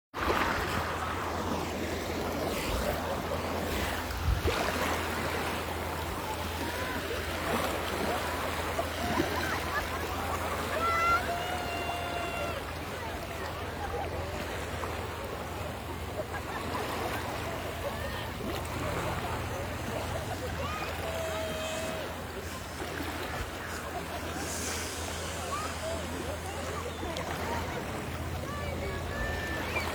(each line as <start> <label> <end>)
0.1 People are wading in the water 29.9
0.2 breaking waves 29.9
6.3 children are laughing 29.9